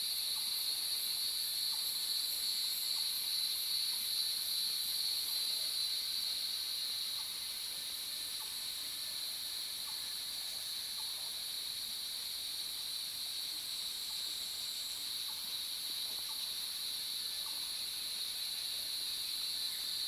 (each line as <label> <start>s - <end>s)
Cicada sounds 0.0s - 20.0s